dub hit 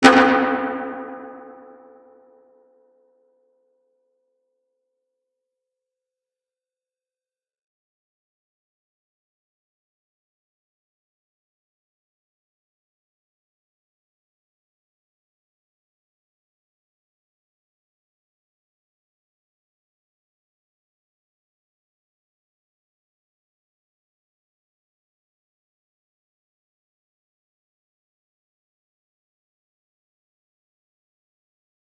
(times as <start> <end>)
0.0 1.8